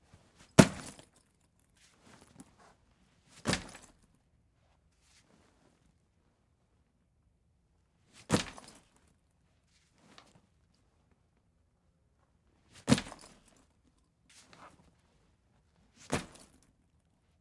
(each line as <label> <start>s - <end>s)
Dropping a backpack onto a chair 0.1s - 1.2s
Dropping a backpack onto a chair 3.3s - 4.0s
Dropping a backpack onto a chair 8.2s - 9.0s
Dropping a backpack onto a chair 12.8s - 13.6s
Dropping a backpack onto a chair 16.0s - 16.6s